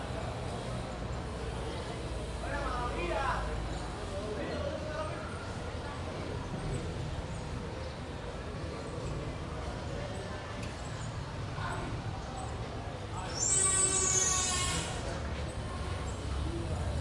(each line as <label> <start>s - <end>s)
Street Noise 0.0s - 17.0s
people 0.0s - 17.0s